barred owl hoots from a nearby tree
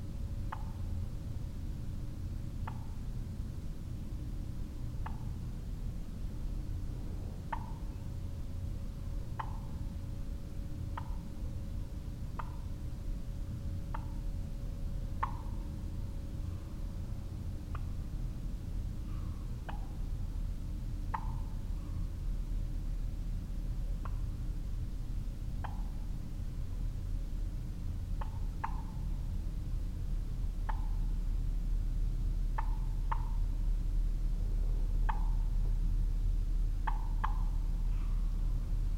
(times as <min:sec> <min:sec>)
0:09.2 0:09.9, 0:10.9 0:11.4, 0:15.2 0:15.6, 0:21.1 0:22.2, 0:25.5 0:26.2, 0:28.1 0:29.2, 0:30.6 0:31.2, 0:32.5 0:33.6, 0:34.9 0:35.7, 0:36.8 0:38.6